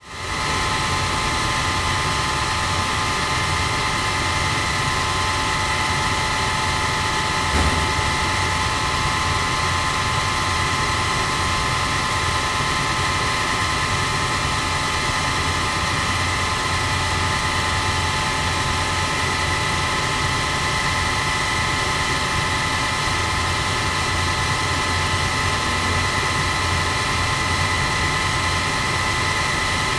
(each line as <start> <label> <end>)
0.0 Rooftop HVAC 29.9
0.0 big industrial fans 29.9